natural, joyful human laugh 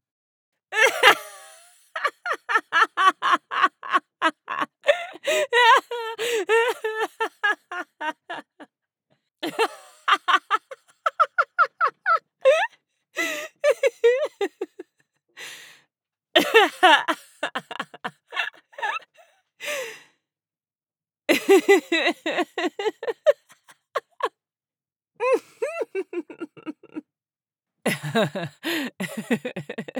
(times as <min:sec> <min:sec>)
0:00.8 0:08.7, 0:09.4 0:14.9, 0:16.4 0:19.9, 0:21.3 0:24.4, 0:25.2 0:27.1, 0:27.9 0:29.9